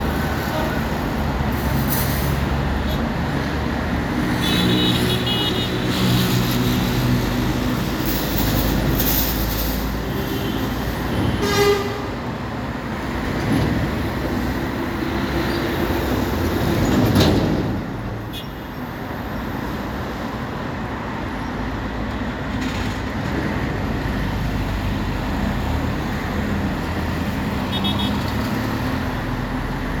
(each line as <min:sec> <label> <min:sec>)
0:00.0 heavytruck 0:30.0
0:10.3 Heavy truck horn 0:12.3